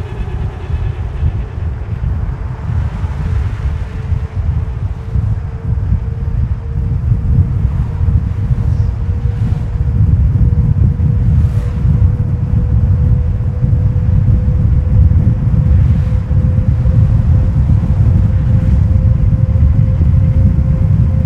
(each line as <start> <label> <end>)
0.0 cars 21.2
0.0 wind strikes the mic hard 21.2